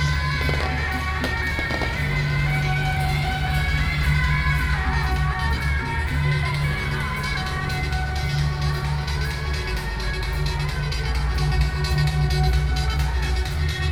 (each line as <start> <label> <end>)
0.0 Firecrackers 13.9
0.0 Traditional temple festivals 13.9